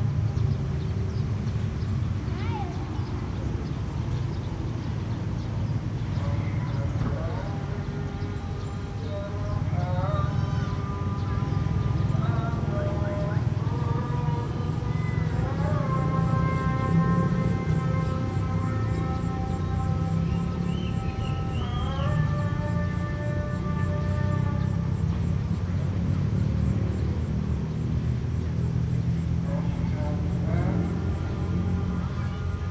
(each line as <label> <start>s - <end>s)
muezzin 6.1s - 26.1s
muezzin 28.1s - 32.7s